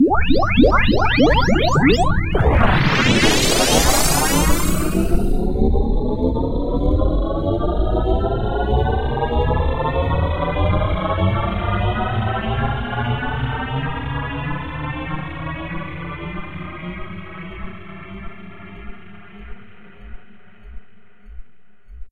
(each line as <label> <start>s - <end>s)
Electronic powerup style sound of large spacecraft 0.0s - 5.9s